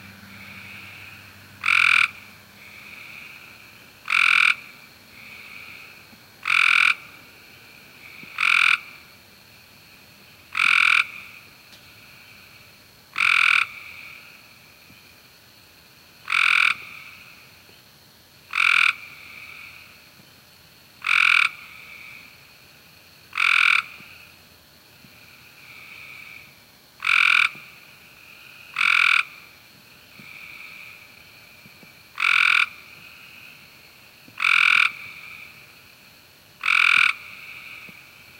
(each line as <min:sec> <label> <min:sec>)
0:00.1 Common American toad calling out 0:07.2
0:07.9 Common American toad calling out 0:09.1
0:10.5 Common American toad calling out 0:12.5
0:13.1 Common American toad calling out 0:14.5
0:16.2 Common American toad calling out 0:17.5
0:18.5 Common American toad calling out 0:20.0
0:21.0 Common American toad calling out 0:22.4
0:23.3 Common American toad calling out 0:24.3
0:25.2 Common American toad calling out 0:31.1
0:32.1 Common American toad calling out 0:33.6
0:34.3 Common American toad calling out 0:35.6
0:36.6 Common American toad calling out 0:38.0